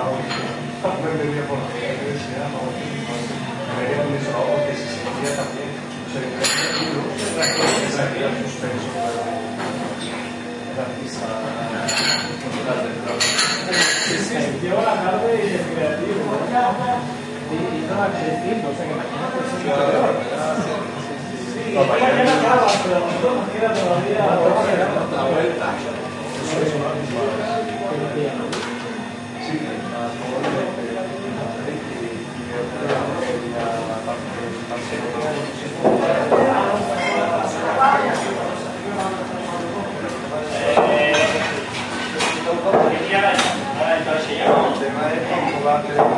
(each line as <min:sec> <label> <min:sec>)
0:06.4 dishes 0:08.0
0:11.8 dishes 0:14.3
0:40.7 dishes 0:43.6